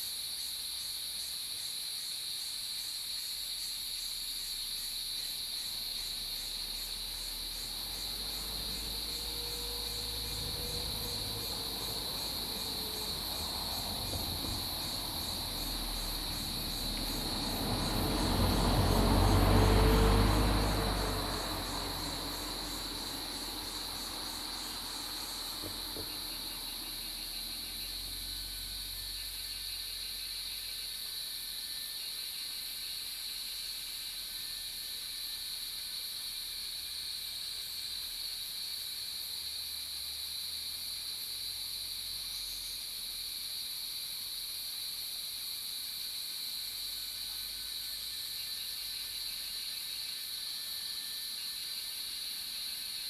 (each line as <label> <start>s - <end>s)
Cicada sounds 0.0s - 53.0s
traffic sound 5.7s - 29.7s